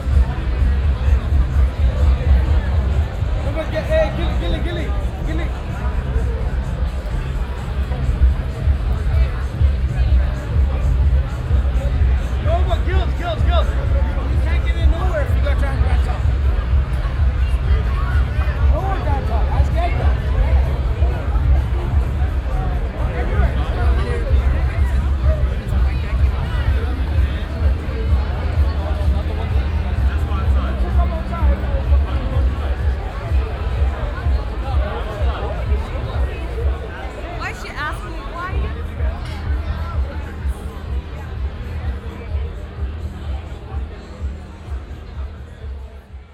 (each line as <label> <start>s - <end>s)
big crowd of people all over the street 0.0s - 46.3s